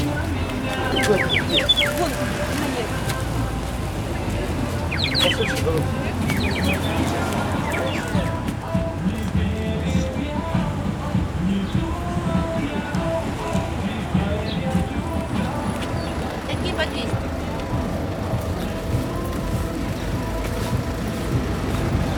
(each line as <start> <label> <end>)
0.0 busy bus stop 22.1
0.0 russian flags dance in the mild wind 22.1
0.0 street dogs 22.1
0.0 tourists 22.1
0.0 traffic 22.1
0.1 kids play the birdwhistle 2.5
4.8 kids play the birdwhistle 8.4